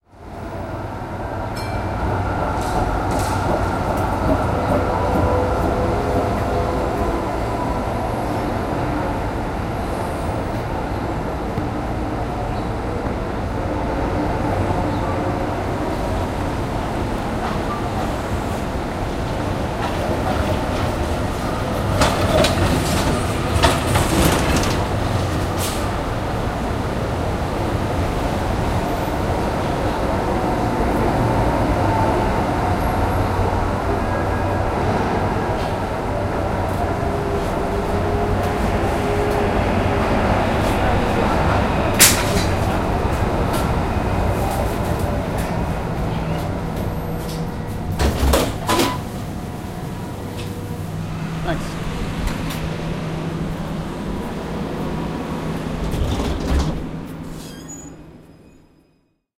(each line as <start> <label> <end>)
0.0 Trams 59.1
0.1 traffic 58.6